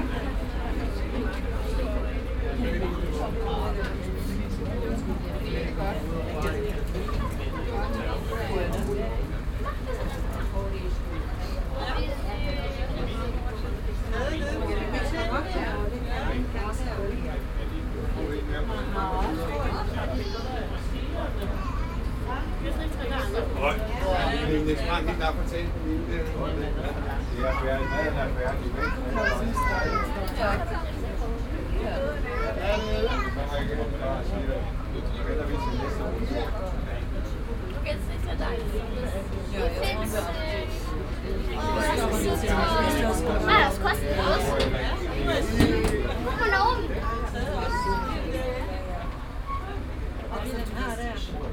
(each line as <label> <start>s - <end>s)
ape bus 0.0s - 51.5s
international visitors 0.0s - 51.5s